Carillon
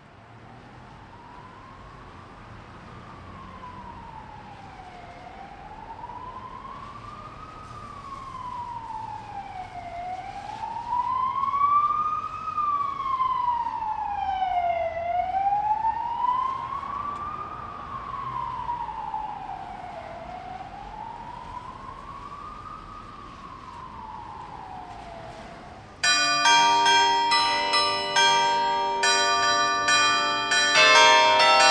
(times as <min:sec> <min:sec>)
0:26.0 0:31.7